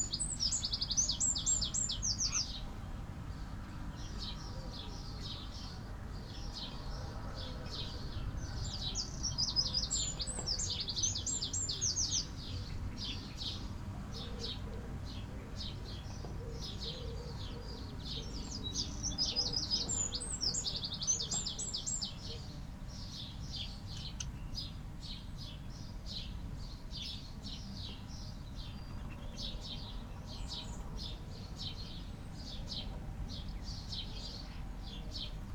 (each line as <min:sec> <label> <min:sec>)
0:00.0 blackbird 0:02.8
0:00.0 house sparrow 0:24.8
0:06.4 blackbird 0:35.5
0:13.5 collared dove 0:20.7